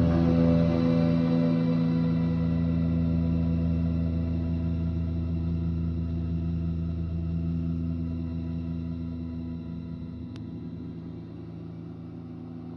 electric guitar 0.0 - 12.6

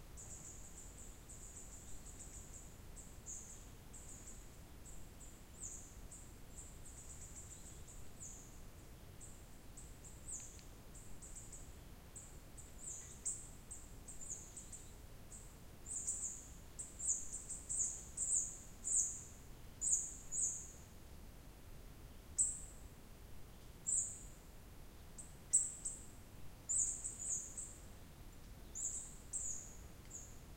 birds 0.1 - 20.9
birds 25.2 - 30.5

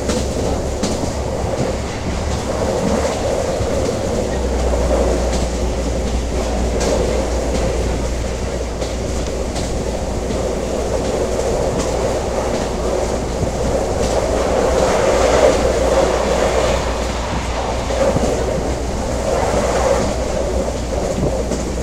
TER train 0.0 - 21.8

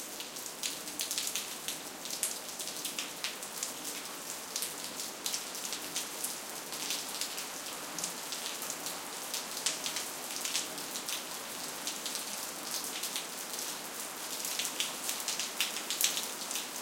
Raindrops falling on pavement 0.0 - 16.8

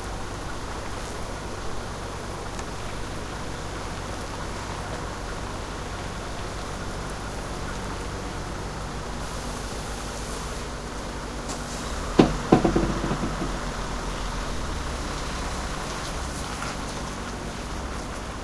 parking truck 0.0 - 18.4

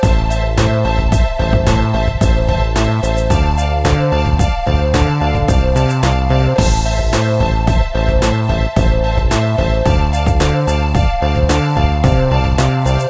music loop 0.0 - 13.0

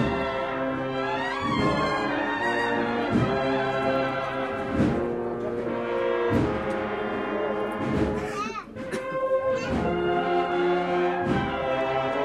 brass band 0.0 - 12.2

